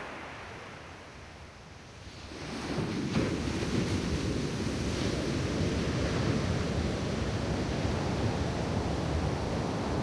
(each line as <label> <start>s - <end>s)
waves on sand 0.0s - 1.2s
waves on sand 2.0s - 10.0s